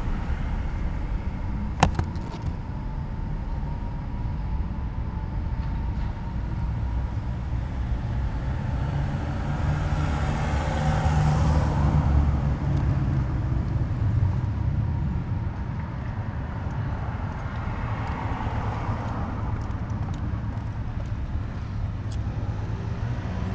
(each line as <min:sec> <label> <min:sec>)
0:00.0 straßenbahnen 0:22.9
0:00.0 autos 0:23.5